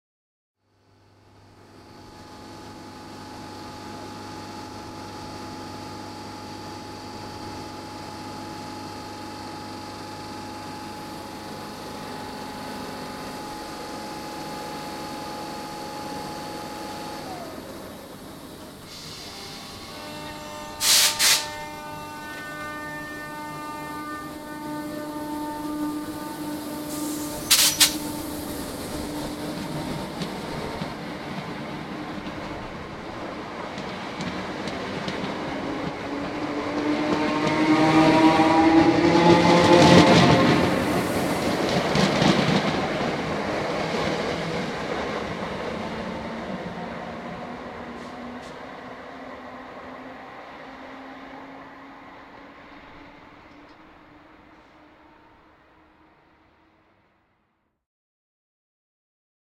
train pulling out of an open-air station 0:00.6 - 0:57.5

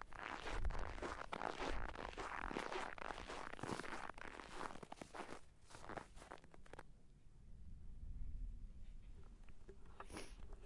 walking on snow 0:00.0 - 0:06.8

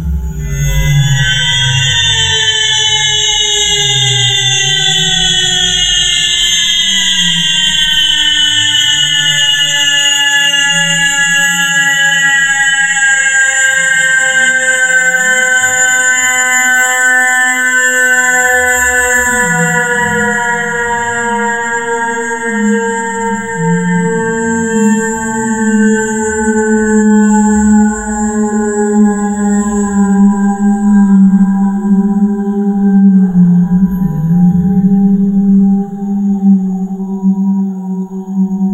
coming and going of a military romulan space-ship 0:19.2 - 0:38.7

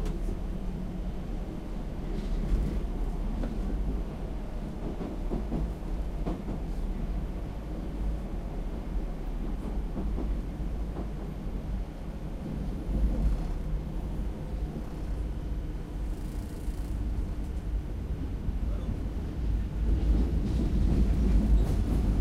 subway car 0:00.0 - 0:22.2

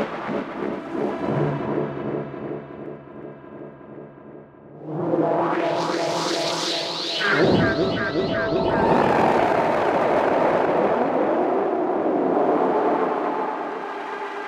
drone 0:00.1 - 0:14.4

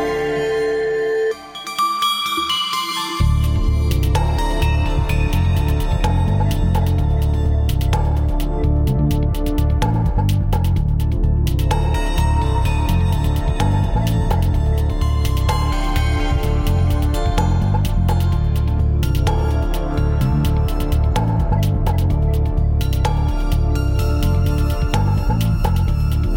synth 0:00.0 - 0:26.3

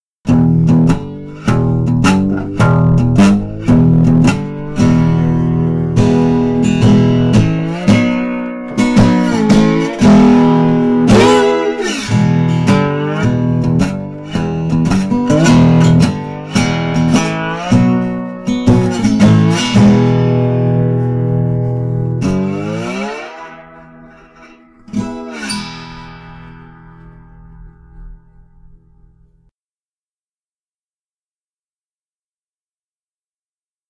Short melody played with a guitar 0:00.3 - 0:29.5

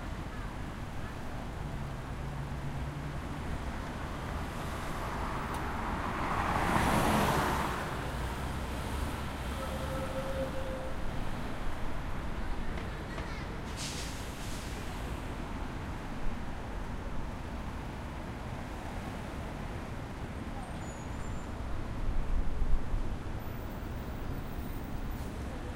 Traffic 0:00.0 - 0:25.7
bus 0:00.0 - 0:25.7

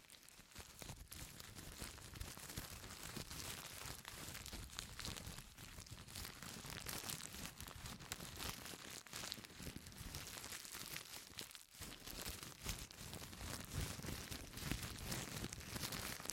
wax paper being crumpled and rubbed together 0:00.0 - 0:16.3

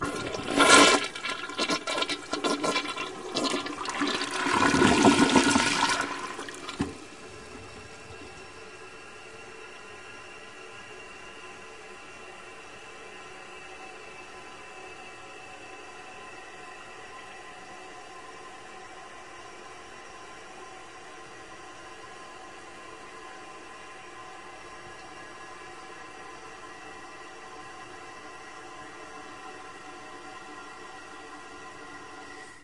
gurgle 0:00.0 - 0:06.9
Standard flush from a toilet 0:00.0 - 0:08.8

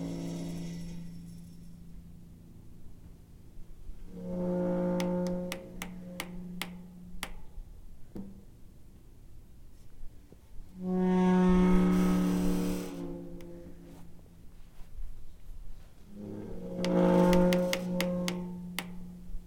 medium size squeaky metal gate 0:00.0 - 0:02.1
medium size squeaky metal gate 0:16.1 - 0:19.2

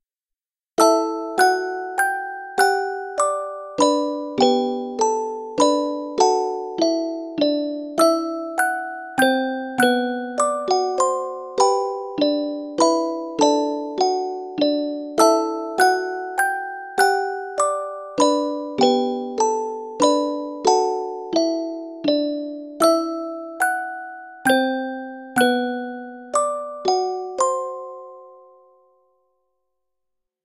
musicbox 0:00.8 - 0:28.9

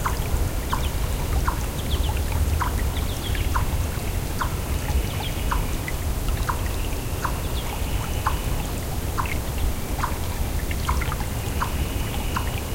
gentle flowing of a brook 0:00.0 - 0:12.7
animal making a constant sort of clucking noise 0:10.0 - 0:10.2
animal making a constant sort of clucking noise 0:10.8 - 0:12.7

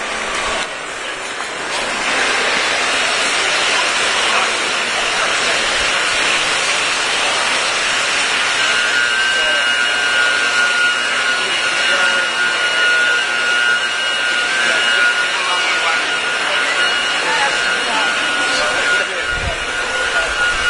crowd 0:00.0 - 0:20.6

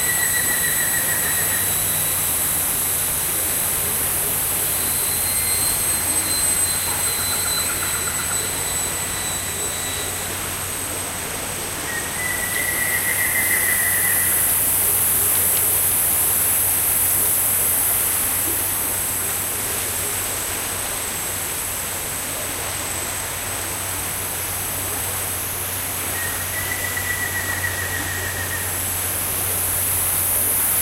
creek 0:00.0 - 0:30.8
insects 0:00.0 - 0:30.8
rain 0:00.0 - 0:30.8

